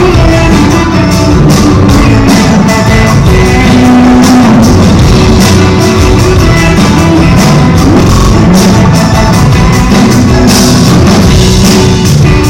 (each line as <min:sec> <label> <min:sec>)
0:00.0 Strong distortions on loud sounds 0:12.4
0:00.0 play song 0:12.4